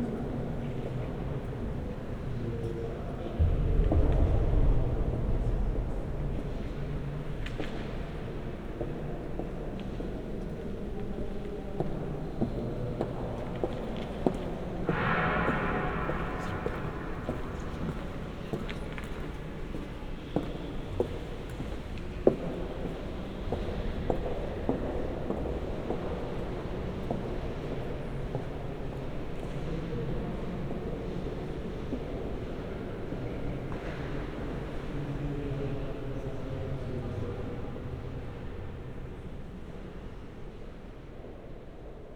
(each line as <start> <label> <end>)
13.6 steps 22.4